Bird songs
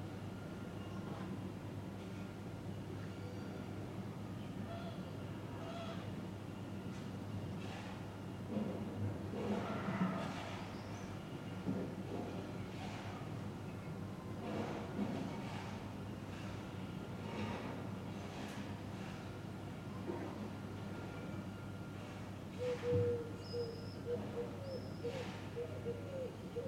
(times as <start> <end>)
23.4 26.4